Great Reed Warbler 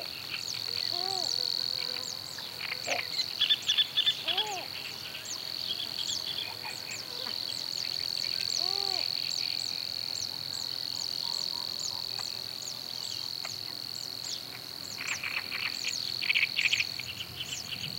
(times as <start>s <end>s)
0.0s 13.6s